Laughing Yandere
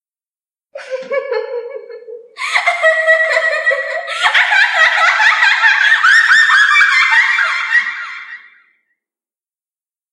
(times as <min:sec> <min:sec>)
0:00.8 0:08.6